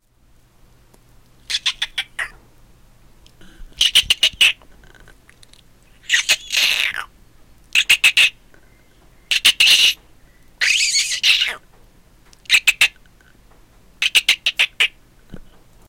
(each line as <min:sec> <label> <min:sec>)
0:01.5 squirrel angry or chattering 0:02.4
0:06.0 squirrel angry or chattering 0:07.1
0:07.7 squirrel angry or chattering 0:08.4
0:09.3 squirrel angry or chattering 0:10.0
0:10.6 squirrel angry or chattering 0:11.6
0:12.5 squirrel angry or chattering 0:13.0
0:14.0 squirrel angry or chattering 0:15.0